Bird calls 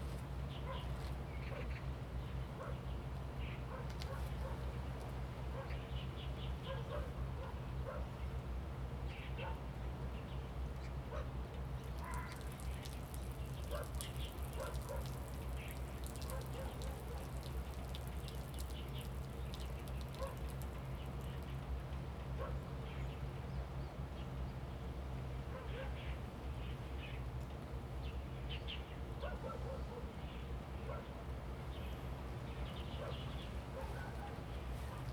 0:11.9 0:20.6

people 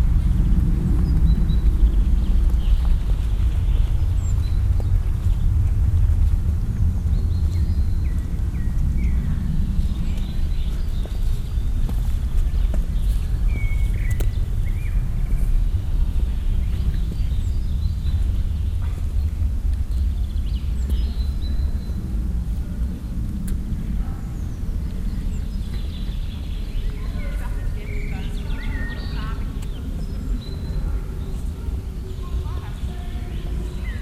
0:26.8 0:34.0

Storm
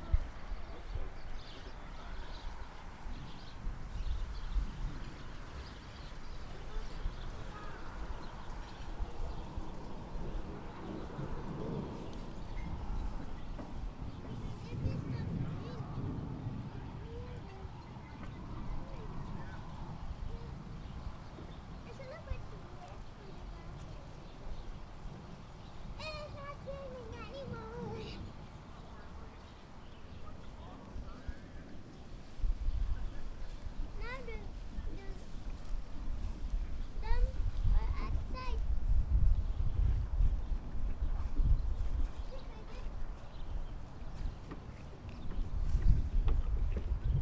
0:09.4 0:20.0

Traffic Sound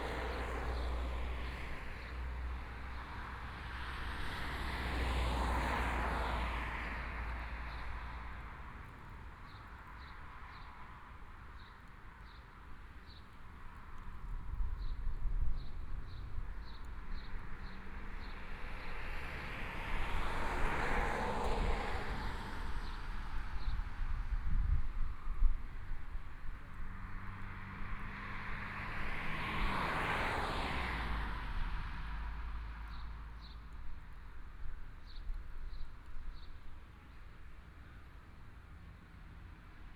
0:00.0 0:09.0, 0:26.1 0:37.3

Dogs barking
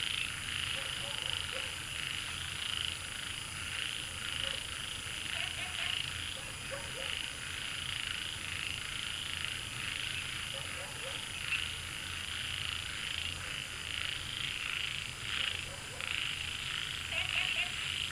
0:00.8 0:01.8, 0:05.4 0:07.2, 0:10.5 0:11.3, 0:15.4 0:16.2

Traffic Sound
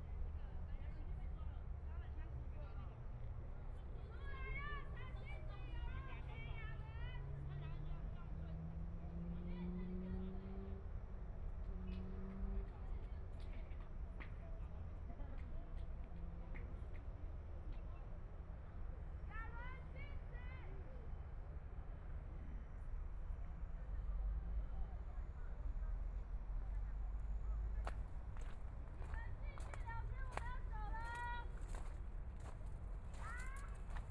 0:21.3 0:34.1

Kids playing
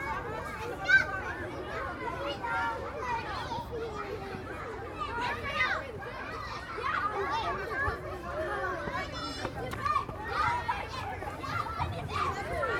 0:05.1 0:12.7

